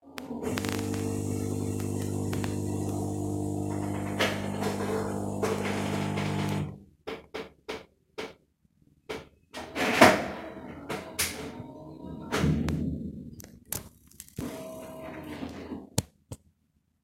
0.0s espresso machine 6.8s

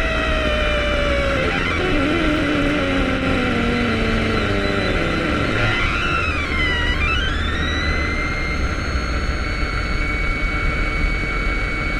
0.0s noise from acceleration 11.9s

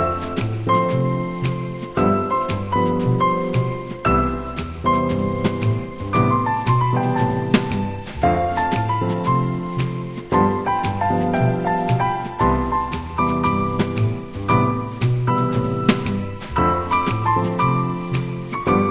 0.0s Brush Drums 18.9s
0.0s Double Bass 18.9s
0.0s Jazz Piano Medley 18.9s

